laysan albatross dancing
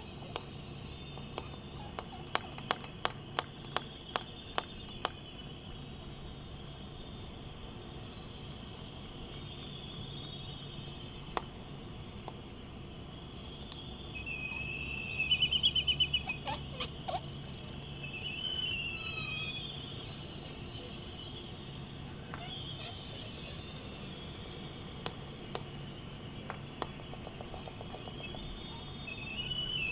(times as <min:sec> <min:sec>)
0:00.0 0:05.2, 0:13.7 0:29.9